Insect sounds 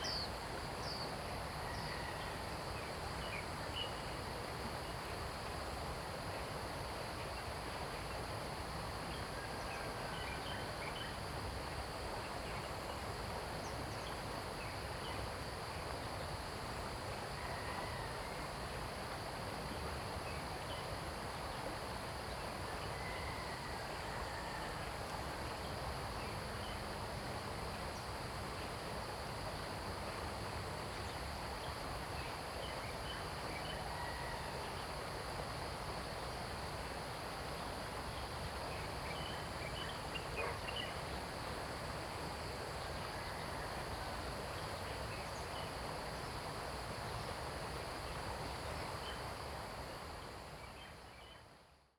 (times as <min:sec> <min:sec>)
0:10.1 0:51.6